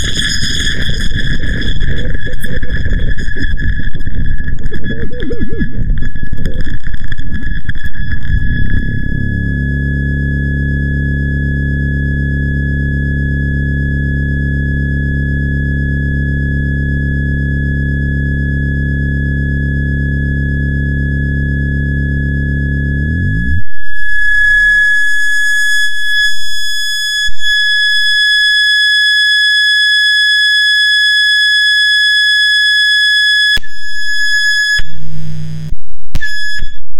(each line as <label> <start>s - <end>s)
glitch 0.0s - 10.0s
glitch 23.0s - 26.6s
glitch 33.4s - 36.9s